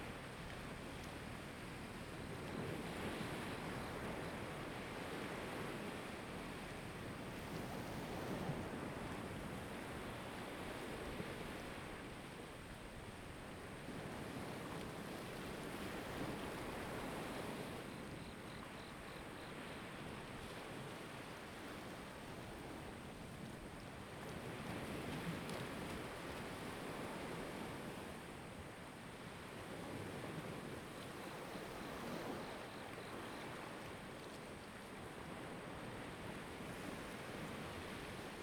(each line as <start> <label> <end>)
0.0 waves 38.4